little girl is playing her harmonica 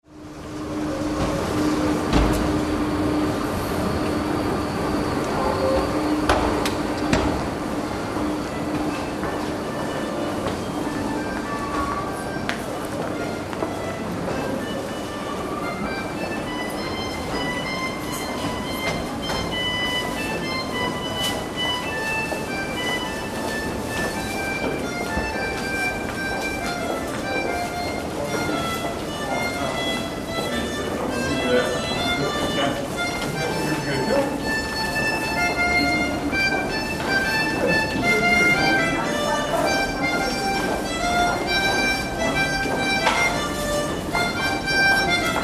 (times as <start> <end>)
9.6 45.4